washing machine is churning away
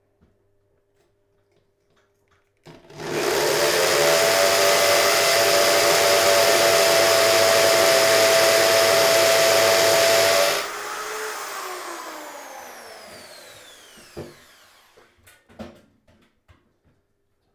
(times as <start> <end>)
2.7 10.8